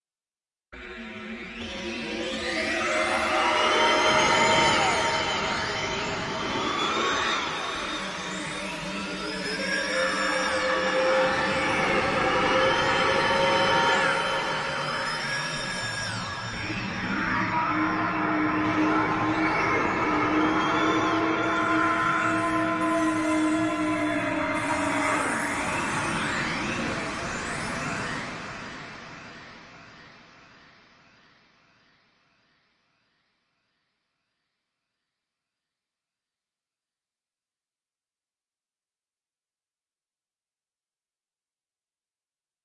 drone 1.0 - 30.5

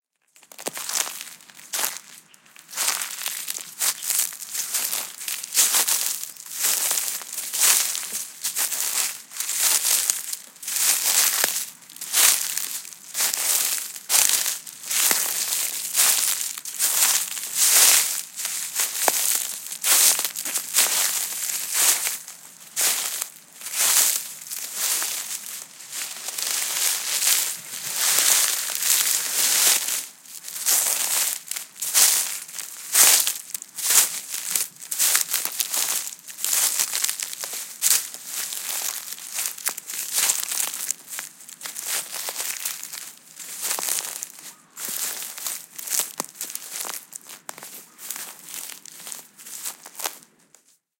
Walking on leaves and grass 0.3 - 50.9

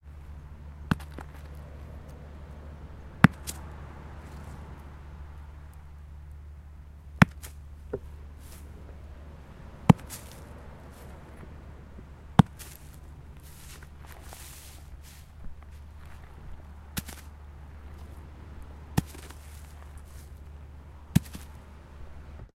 sea 8.2 - 14.3

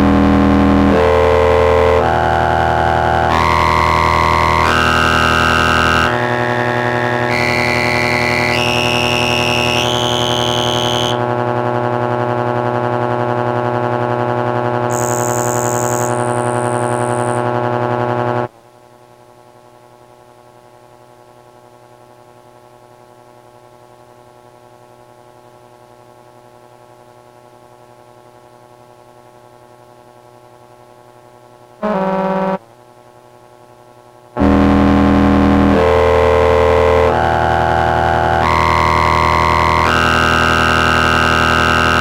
Synthesizer 0.0 - 11.2

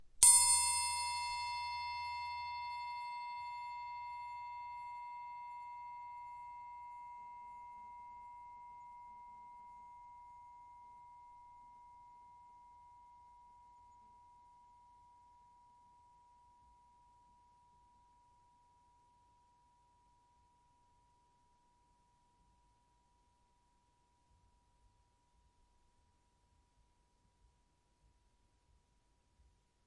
Punch to music triangle 0.2 - 2.8

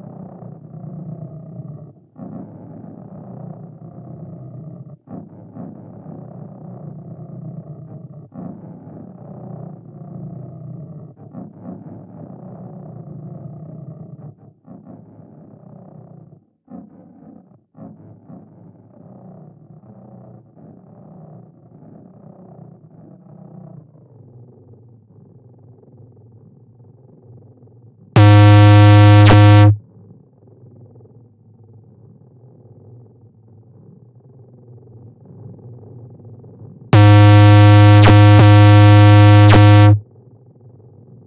digital feedback failures 28.2 - 29.8
digital feedback failures 37.0 - 40.0

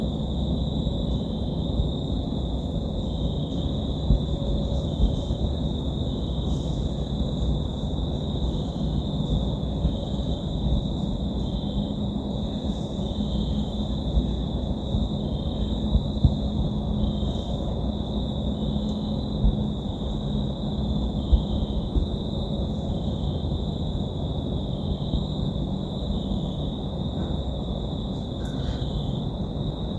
crickets 0.0 - 29.9

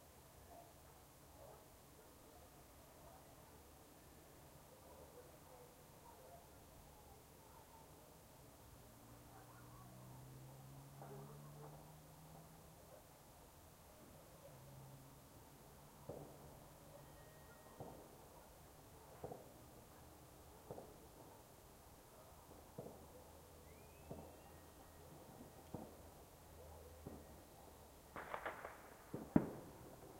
firework launch 28.1 - 30.1

